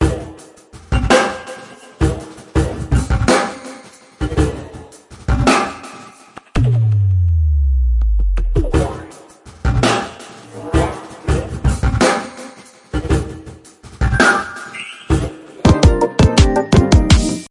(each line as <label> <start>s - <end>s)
drum fill 6.6s - 10.2s
chords 15.6s - 17.5s
drum fill 15.6s - 17.5s